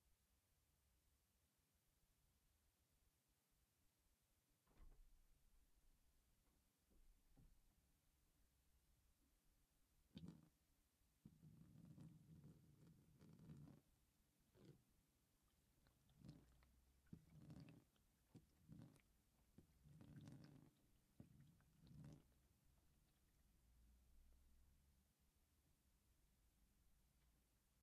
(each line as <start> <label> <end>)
10.2 water on glass 10.5
15.5 water on glass 22.4